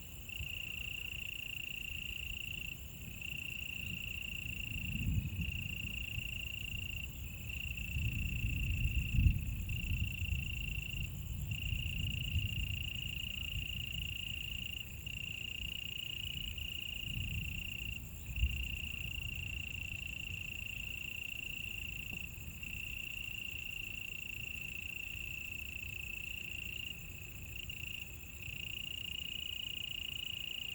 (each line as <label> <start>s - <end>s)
Insects sounds 0.0s - 30.7s